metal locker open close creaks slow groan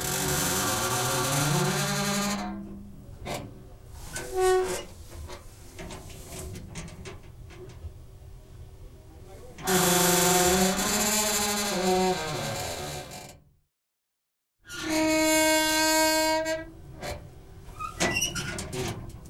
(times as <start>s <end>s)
0.0s 3.5s, 4.1s 4.9s, 9.6s 13.4s, 14.7s 19.1s